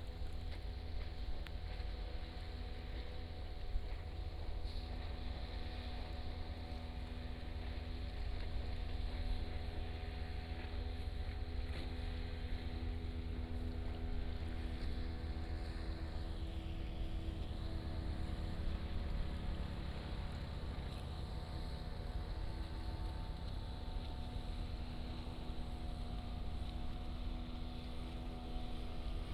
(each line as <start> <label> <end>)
0.0 Fishing boat on the sea 29.3